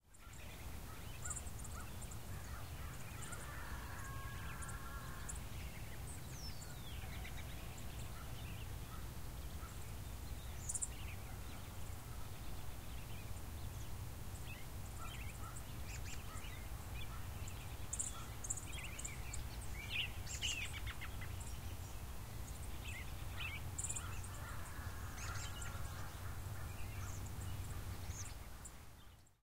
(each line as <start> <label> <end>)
0.1 birds chirping 29.4